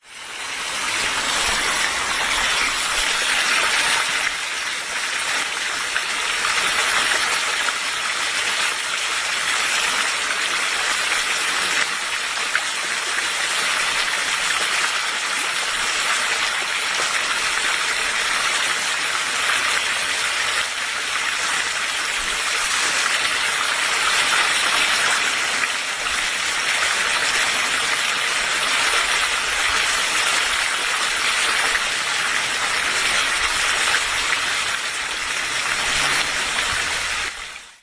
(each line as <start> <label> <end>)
0.0 fountain with two frogs sculptures 37.8